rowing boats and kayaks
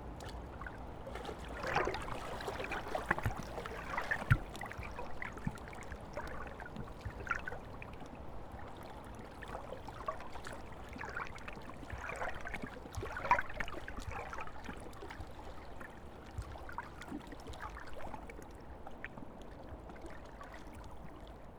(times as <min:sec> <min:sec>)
0:01.0 0:07.0